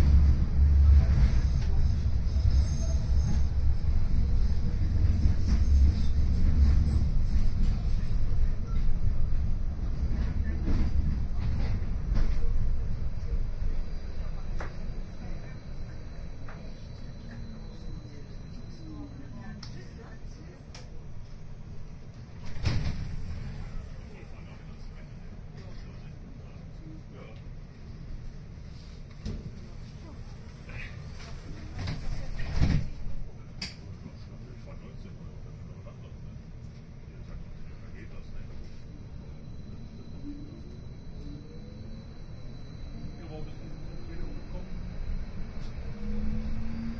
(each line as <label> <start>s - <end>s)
tram 0.0s - 46.9s
people chatting 10.2s - 21.1s
people chatting 23.5s - 27.4s
people chatting 29.8s - 36.5s
people chatting 37.1s - 42.0s
people chatting 42.9s - 45.0s